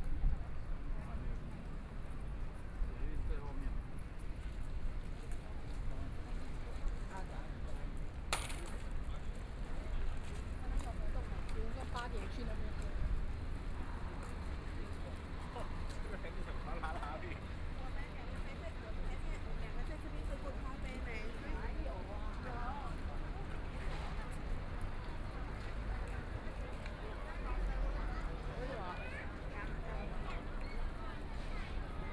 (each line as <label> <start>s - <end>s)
walking in the Street 0.0s - 32.1s